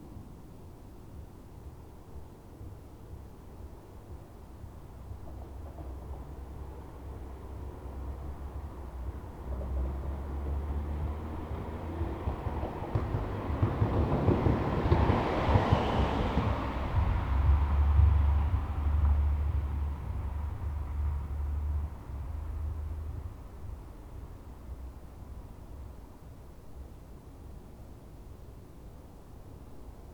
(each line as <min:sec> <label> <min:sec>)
0:05.4 cars passing over bumps 0:25.0